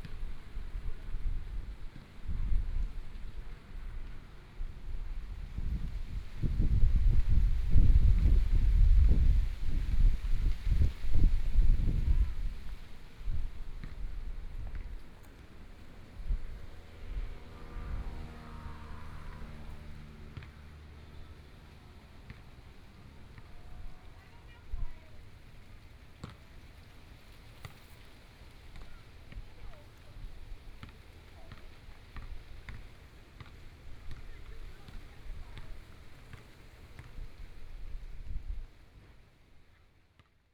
wind moving the leaves 0:00.0 - 0:39.3
Traffic Sound 0:15.0 - 0:26.0
Playing basketball voice 0:22.2 - 0:25.2
Playing basketball voice 0:30.8 - 0:37.2

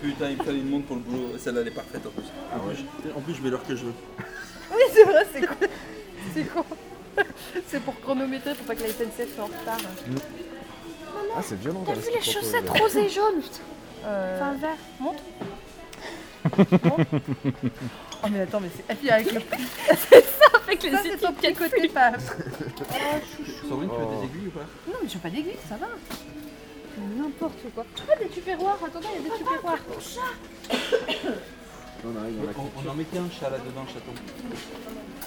clients in the supermarket 0:01.4 - 0:13.6
clients in the supermarket 0:17.7 - 0:35.2

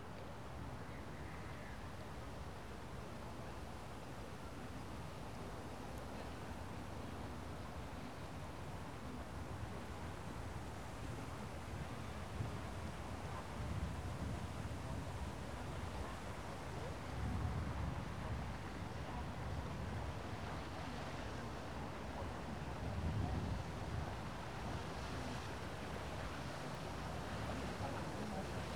tourist boat passes by 0:10.4 - 0:28.7

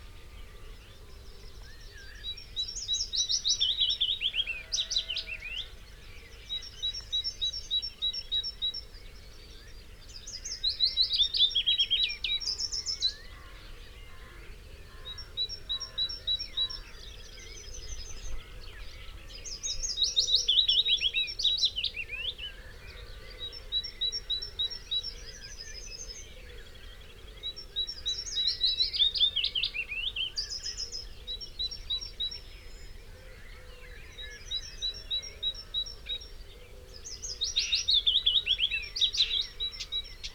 background noise 0:00.0 - 0:40.3
willow warbler song 0:15.0 - 0:40.3
song thrush 0:15.1 - 0:40.3

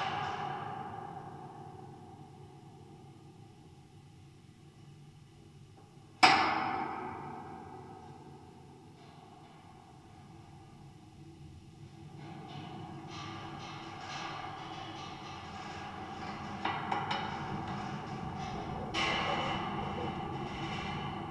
metallic fence 0:12.1 - 0:21.3

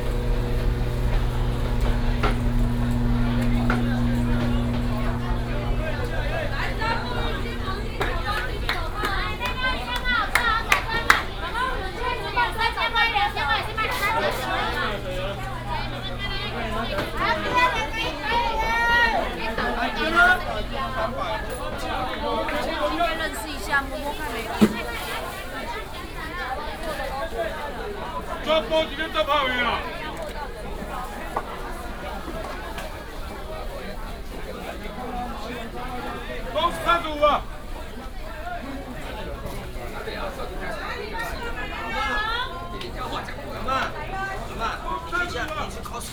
Walking in the market inside 0:00.0 - 0:46.1

